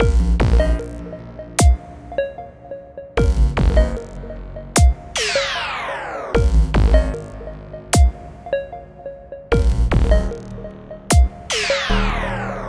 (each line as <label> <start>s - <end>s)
synthesizer 0.0s - 12.6s